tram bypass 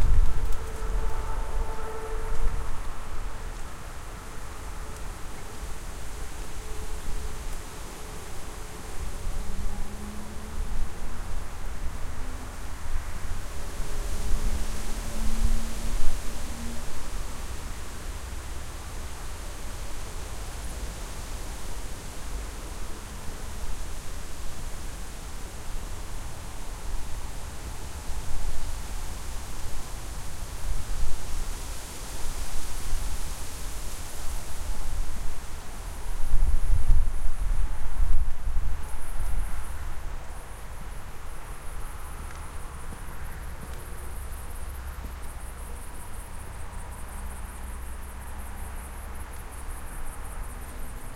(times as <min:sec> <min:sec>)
0:00.0 0:18.7